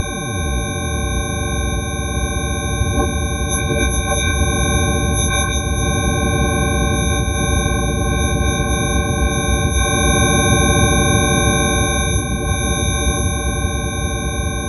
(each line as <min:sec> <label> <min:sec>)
0:00.0 buzz 0:14.6